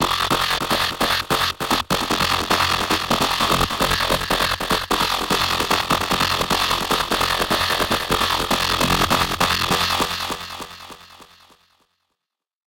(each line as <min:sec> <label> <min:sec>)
0:00.0 synth riff 0:11.5